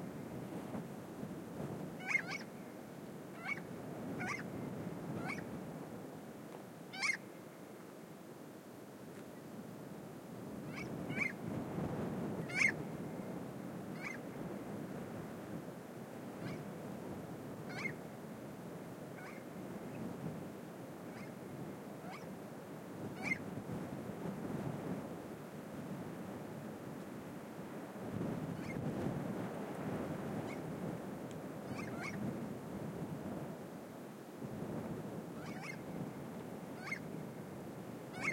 windy 0.0 - 38.3
Unknown bird 2.0 - 2.5
Unknown bird 3.4 - 4.5
Unknown bird 5.2 - 5.5
Unknown bird 6.9 - 7.2
Unknown bird 12.4 - 12.8
Unknown bird 31.7 - 32.2
Unknown bird 35.4 - 35.8
Unknown bird 36.8 - 37.1

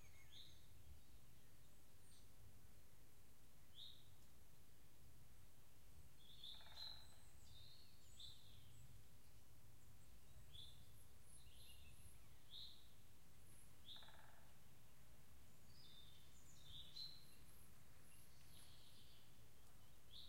woodpecker 6.3 - 7.4
woodpecker 13.5 - 14.7

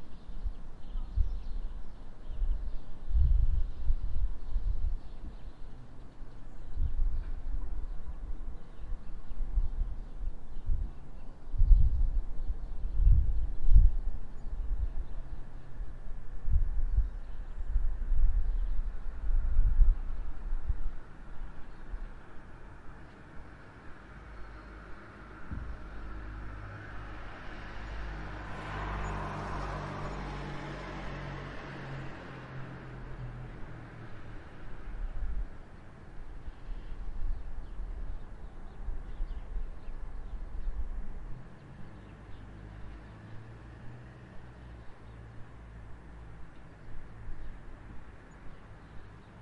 birdsong 0.0 - 35.0
cars 22.7 - 36.8
birdsong 35.8 - 49.4
cars 41.0 - 49.4

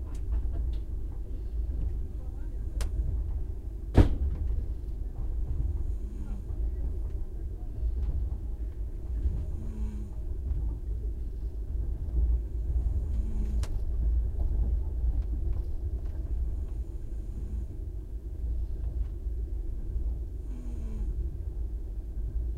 train makes a high humming sound 5.6 - 6.7
train makes a high humming sound 9.1 - 10.5
train makes a high humming sound 12.5 - 13.9
train makes a high humming sound 20.4 - 21.4

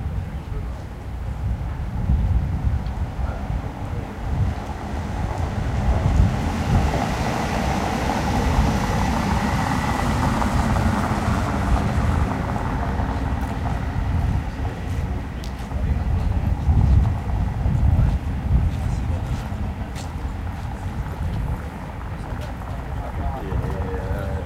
people speaking 0.0 - 4.6
wind 0.0 - 24.4
small boats go by 3.0 - 16.6
people speaking 11.7 - 24.4
small boats go by 18.2 - 24.4

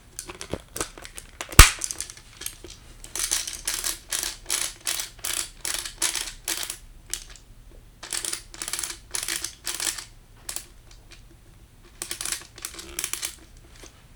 Airsoft MP5 Mag charging the spring feeder 1.4 - 2.1

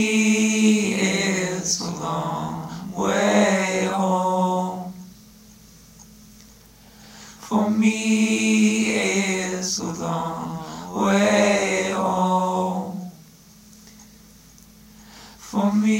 Vocals 0.0 - 5.4
Vocals 6.8 - 14.0
Vocals 14.9 - 15.9

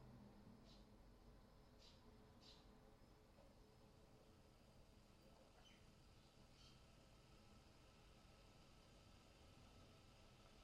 Background noise 0.0 - 10.6
KETTLE BOIL R 4.2 - 10.6

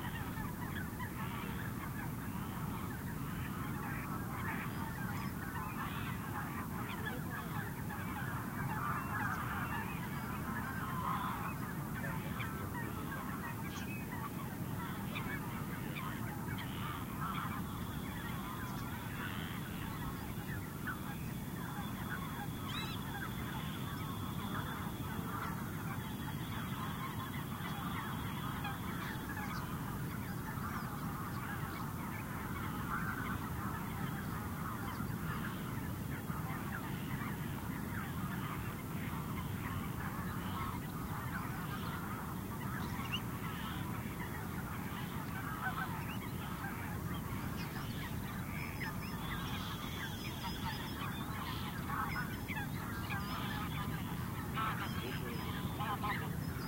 calls from birds 0.0 - 56.6
frogs 0.0 - 56.6
rumble of waves on a very distant shore 0.0 - 56.6

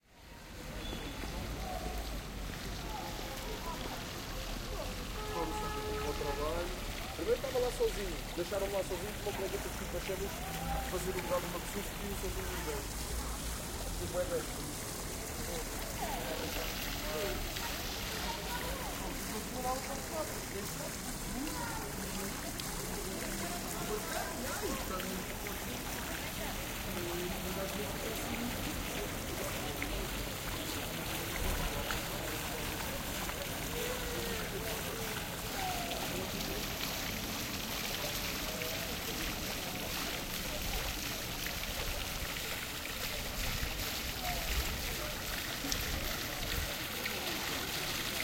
People talking nearby 0.0 - 48.2
Water fountain 0.0 - 48.2

